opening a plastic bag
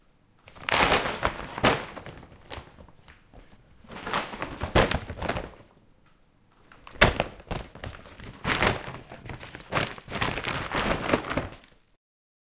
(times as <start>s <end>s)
0.5s 3.2s, 3.8s 5.7s, 6.7s 12.0s